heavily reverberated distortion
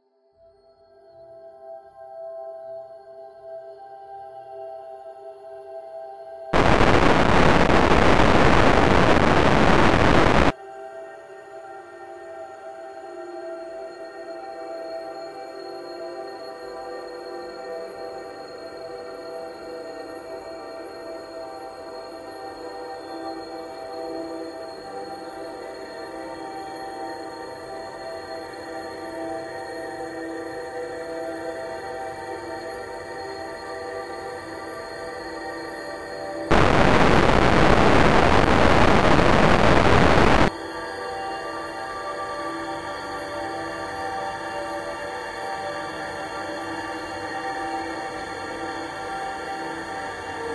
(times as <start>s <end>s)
6.6s 10.5s, 36.5s 40.5s